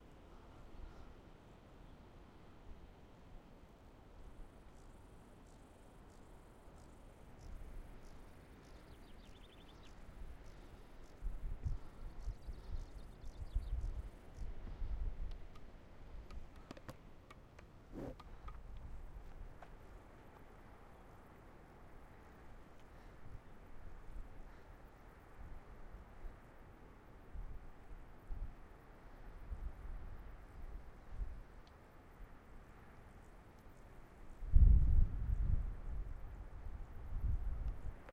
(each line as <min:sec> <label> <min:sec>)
0:06.7 birds 0:21.4